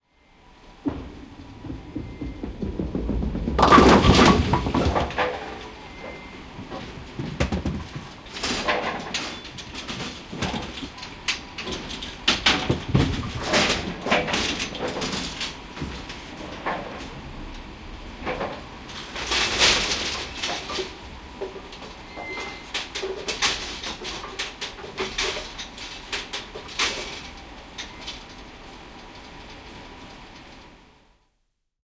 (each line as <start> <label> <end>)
0.7 bowling machine lifting bowling pins 23.3